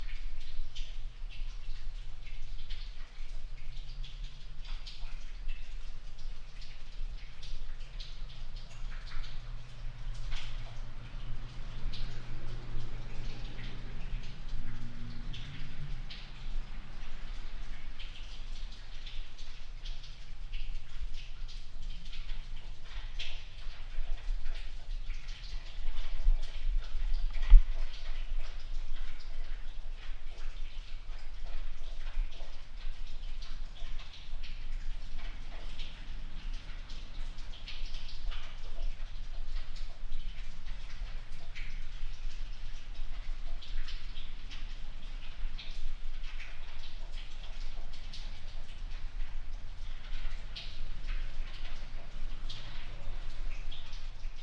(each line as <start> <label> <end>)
0.0 snow melt drips and runs through the cracks 54.4